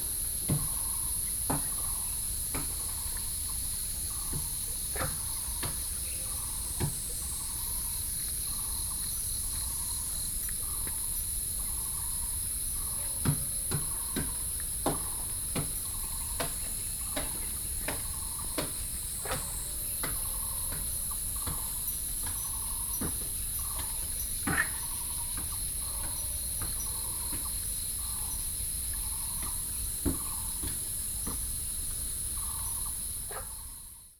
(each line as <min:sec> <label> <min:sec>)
0:00.0 Cicadas 0:34.1
0:00.0 Frogs 0:34.1
0:00.0 walking in the Hiking trails 0:34.1